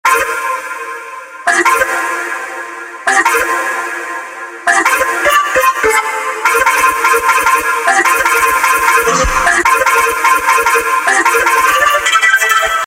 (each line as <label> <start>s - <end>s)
voice 9.0s - 9.7s